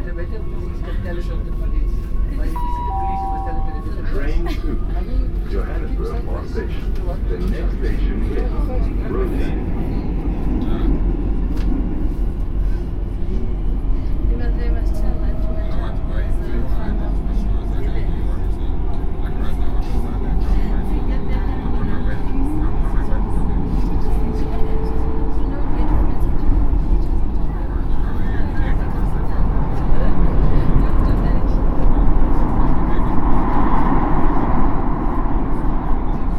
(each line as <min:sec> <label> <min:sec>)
0:00.0 voices 0:11.8
0:12.4 voices 0:36.3